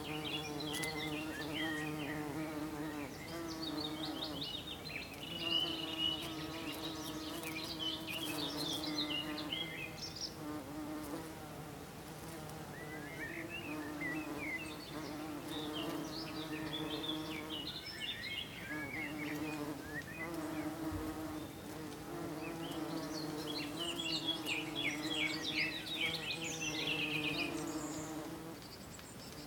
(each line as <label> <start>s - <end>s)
Bees in Fuscia 0.0s - 29.4s